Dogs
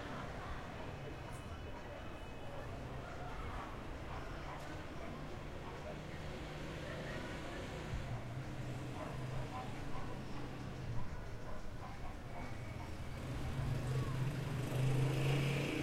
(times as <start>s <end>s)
8.1s 13.4s